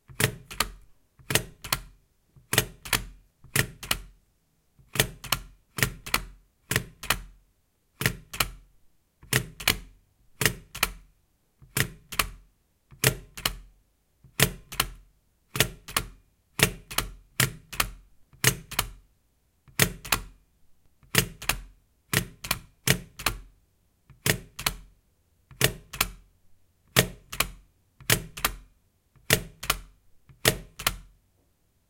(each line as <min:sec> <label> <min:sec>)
0:02.5 Stapler Sound 0:04.1
0:09.2 Stapler Sound 0:11.0
0:11.7 Stapler Sound 0:13.6
0:14.3 Stapler Sound 0:19.0
0:21.0 Stapler Sound 0:23.5
0:24.1 Stapler Sound 0:24.8
0:25.5 Stapler Sound 0:26.2
0:26.9 Stapler Sound 0:28.6
0:29.2 Stapler Sound 0:31.1